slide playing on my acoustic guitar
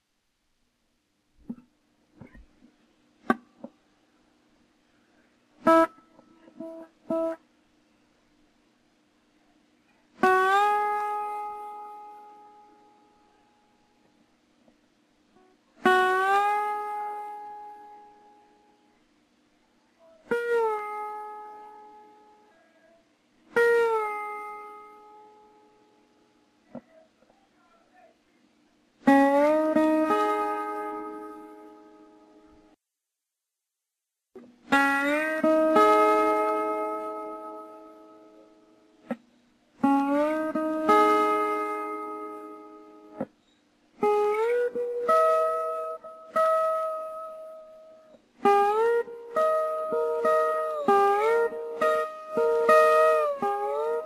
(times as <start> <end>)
1.5 3.8, 5.6 7.4, 10.1 14.1, 15.4 18.8, 20.0 27.0, 29.0 32.7, 34.4 54.0